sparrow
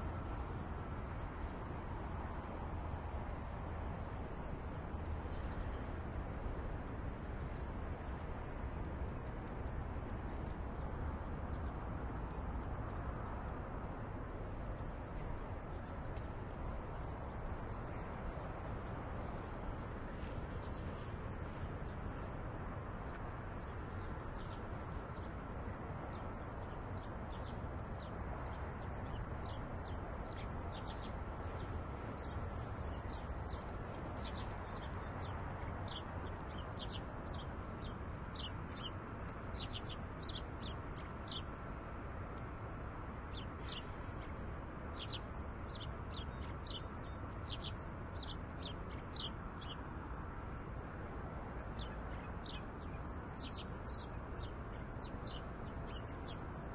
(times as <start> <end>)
26.1 41.6, 43.3 49.9, 51.8 56.7